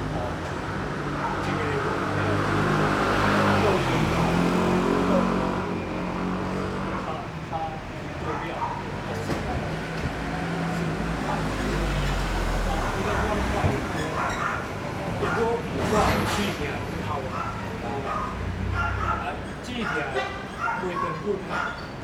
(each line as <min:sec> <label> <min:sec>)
0:00.0 Traffic Sound 0:22.0
0:00.0 Motorcycle repair shop 0:22.0